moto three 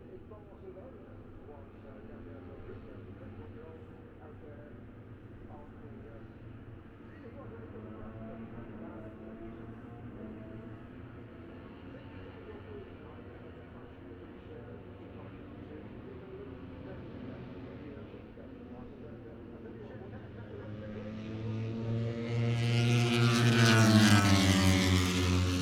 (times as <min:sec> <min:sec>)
0:19.7 0:25.6